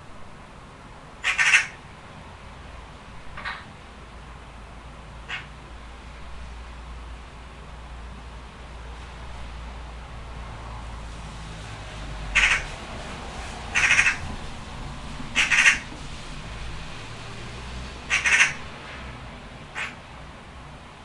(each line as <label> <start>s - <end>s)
Magpie on window 0.0s - 21.0s